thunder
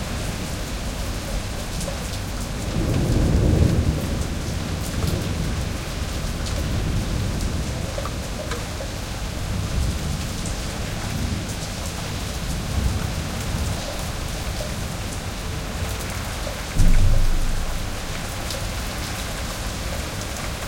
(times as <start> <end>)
2.7 7.4, 16.8 19.7